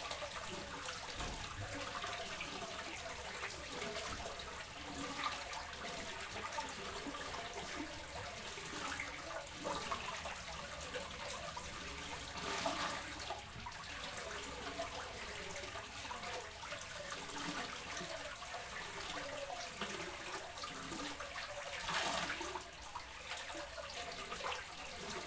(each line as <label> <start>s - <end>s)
fountain 0.0s - 25.2s